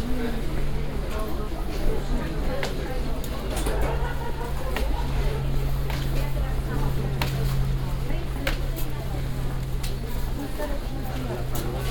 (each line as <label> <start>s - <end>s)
walking around a green market 0.0s - 11.9s